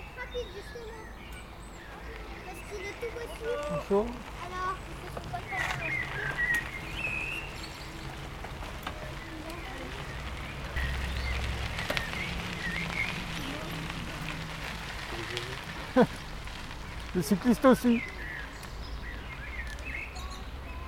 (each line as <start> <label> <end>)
0.0 passage de jeunes cyclistes 20.8